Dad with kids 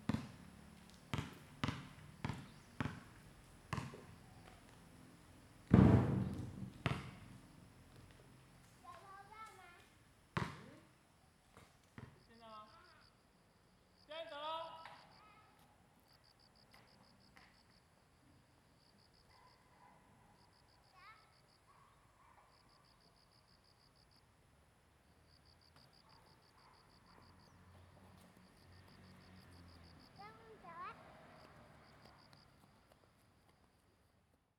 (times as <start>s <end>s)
14.1s 15.7s